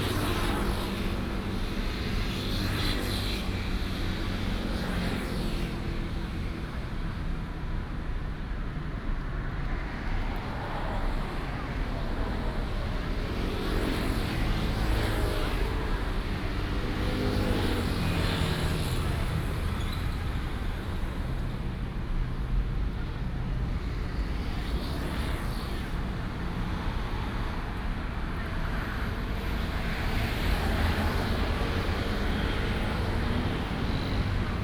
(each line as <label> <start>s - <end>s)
Traffic Sound 9.8s - 34.6s